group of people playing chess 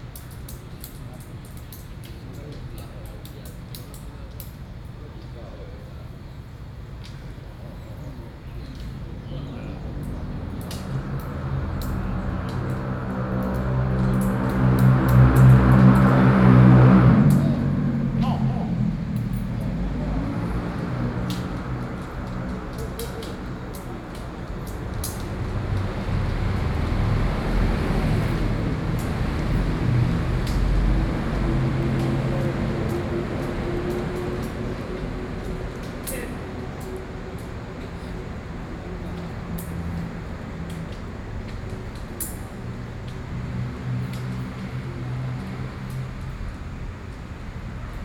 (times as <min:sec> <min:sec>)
0:08.7 0:27.0